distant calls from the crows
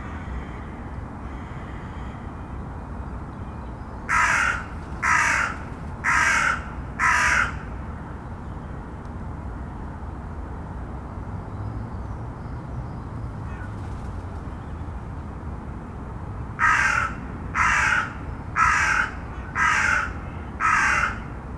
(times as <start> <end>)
0.0 2.5, 4.0 7.9, 13.4 14.5, 16.6 21.4